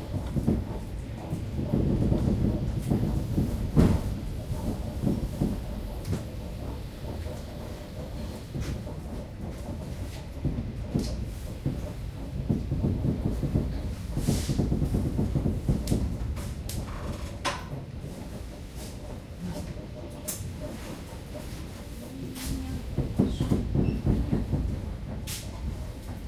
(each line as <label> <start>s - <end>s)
suburban train pulling into Belorusskiy station 0.0s - 26.2s